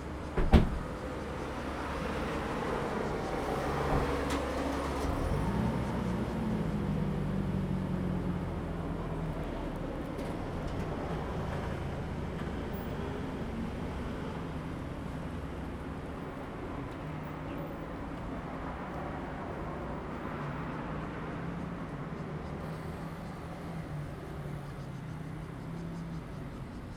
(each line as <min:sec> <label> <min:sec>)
0:00.0 Traffic Sound 0:26.9